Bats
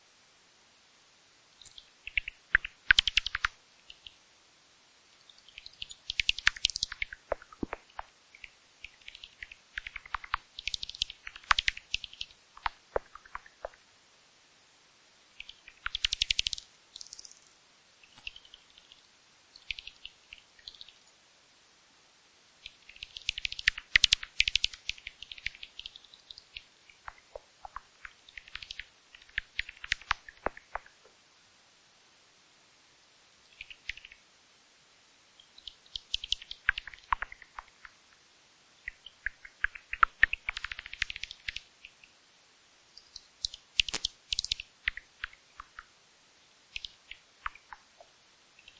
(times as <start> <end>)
5.2 13.8, 15.4 21.1, 22.6 30.9, 43.0 45.9